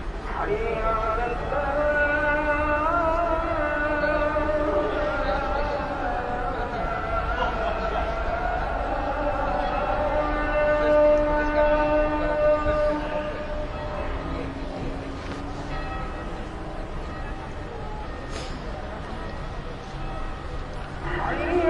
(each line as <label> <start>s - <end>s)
call to prayer 0.0s - 18.3s
call to prayer 19.0s - 21.6s